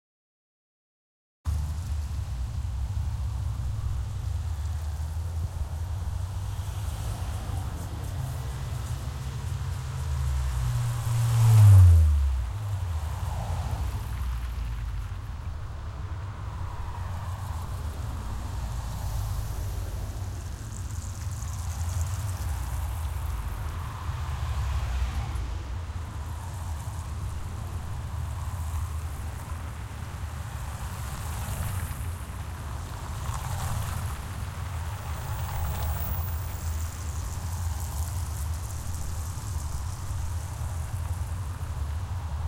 Cars across on street 0:01.5 - 0:42.4

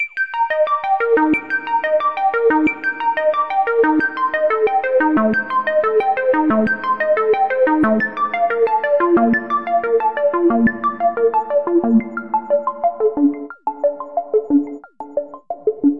arpeggio 0:05.8 - 0:15.9

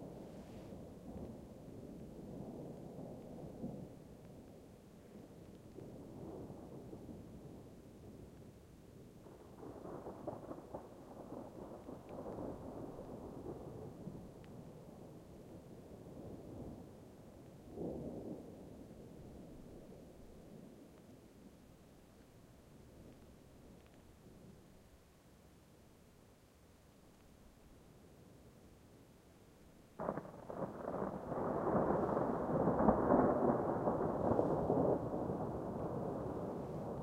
thunder 0:05.7 - 0:20.1
thunder 0:30.0 - 0:37.0

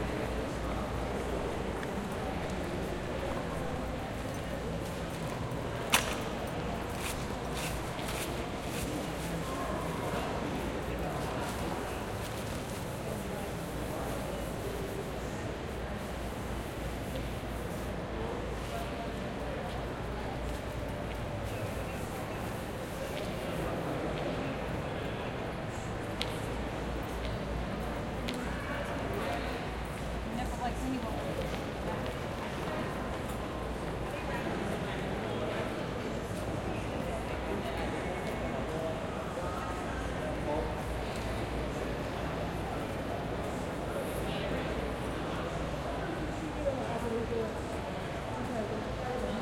People walking by 0:00.0 - 0:49.4

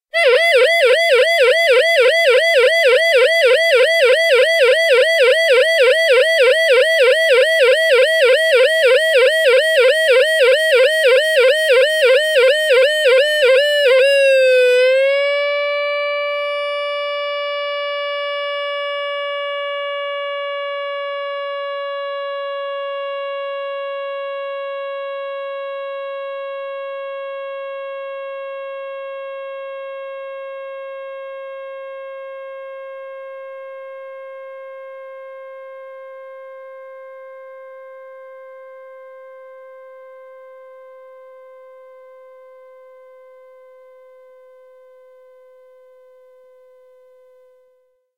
siren that runs out of power 0:00.2 - 0:44.3

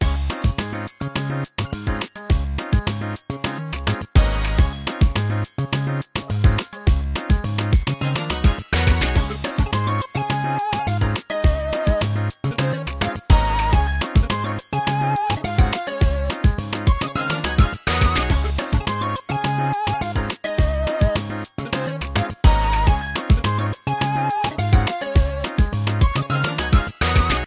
chiptune 0:00.0 - 0:27.4

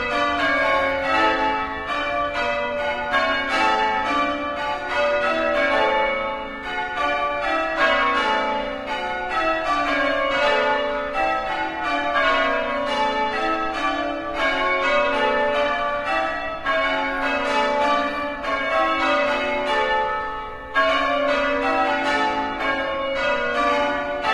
Church Bells 0:00.0 - 0:24.3

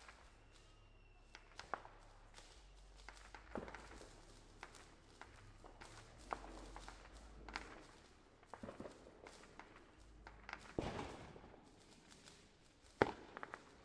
illegal bottle rockets 0:00.0 - 0:13.8

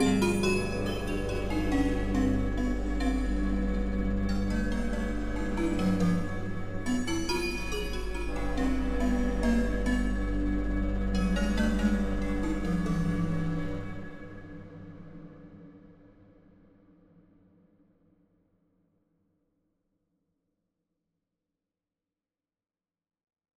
drone Synths 0:00.0 - 0:14.6

